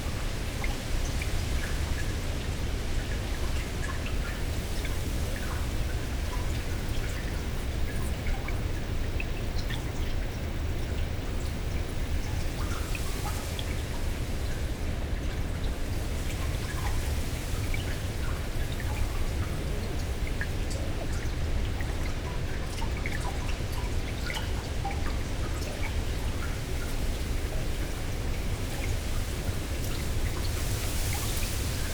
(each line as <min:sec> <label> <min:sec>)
0:00.0 Strong wind in reeds above and below water 0:22.7
0:23.6 Strong wind in reeds above and below water 0:31.9